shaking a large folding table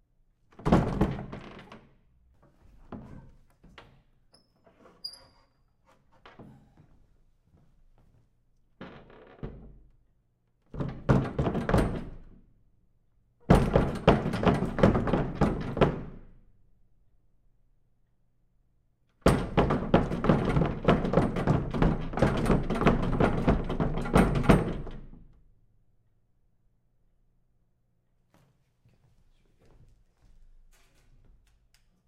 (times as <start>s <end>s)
19.3s 25.1s